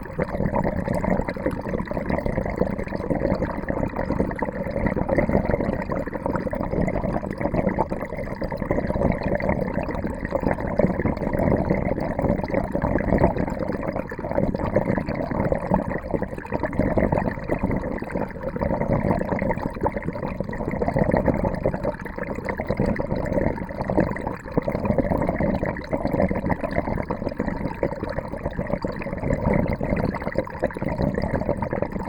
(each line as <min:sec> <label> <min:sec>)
0:00.0 water drains with a curious dentist sound 0:32.0